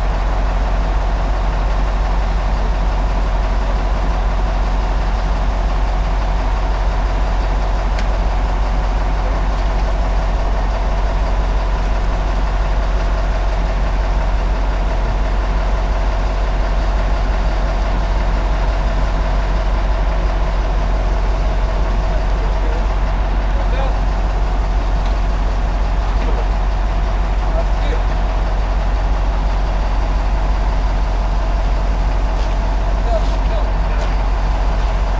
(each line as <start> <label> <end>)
0.0 bus engine 35.1
0.0 vacationer getting on coach buses 35.1